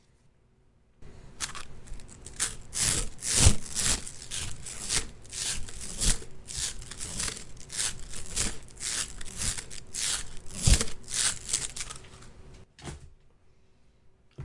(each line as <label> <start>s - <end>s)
Plastic slinky bounced in hand back and forth 1.4s - 12.1s